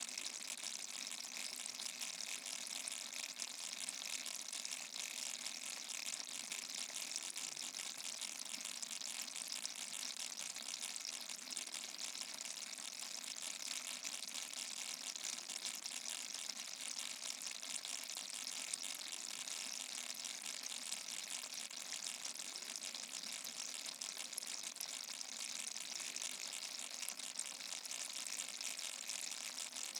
water 0.0 - 29.9

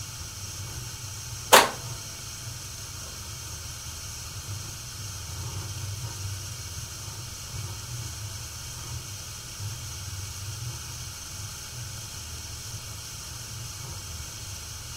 rotary switch connected to some relay 1.5 - 1.9
gas boiler starting 1.5 - 2.0
gas ignition 1.5 - 2.0
switches are heard when it's running 1.5 - 2.0

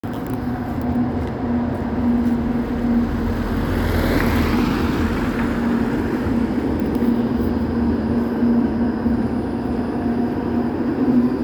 tram passing by 0.0 - 11.4
car passing by 2.6 - 7.6

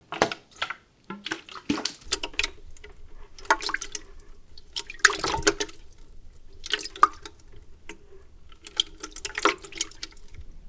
Water sloshing about in a plastic watering can 0.0 - 10.6

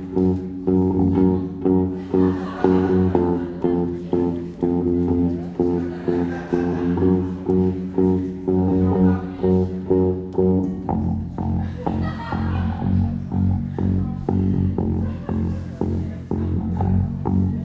bassguitar tunning 0.0 - 17.6
people are laughing and talking 0.0 - 17.6

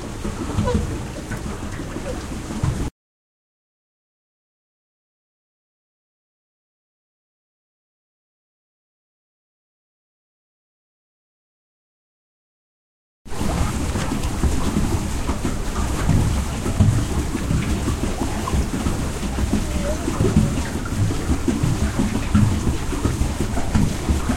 Paddle boat on water 0.0 - 2.9
Paddle boat on water 13.3 - 24.3

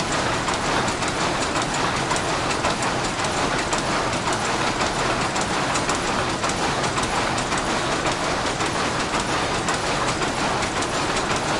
power looms in action 0.0 - 11.5

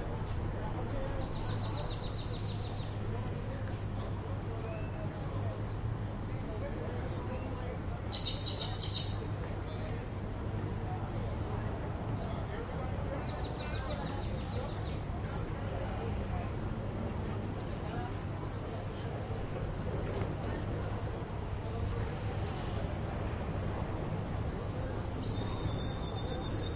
People talk 0.0 - 26.7
traffic is heard in the distance 0.0 - 26.7
birds chirp 8.1 - 9.6

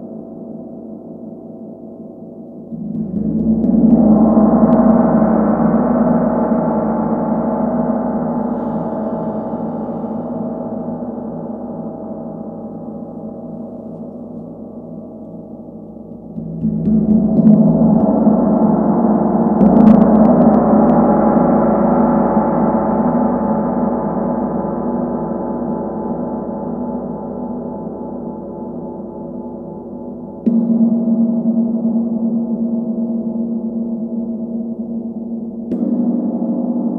huge gong sound 2.7 - 13.0

